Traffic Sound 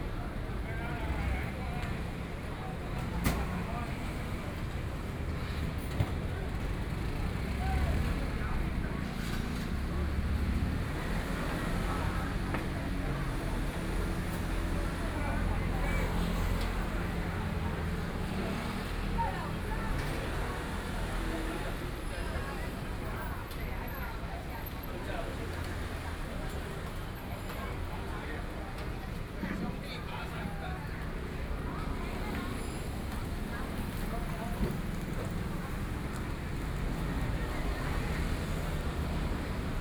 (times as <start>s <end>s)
30.1s 39.8s